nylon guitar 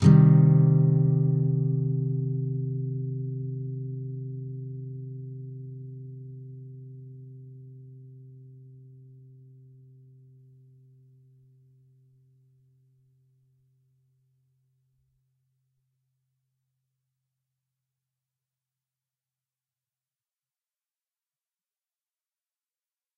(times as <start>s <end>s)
0.0s 11.6s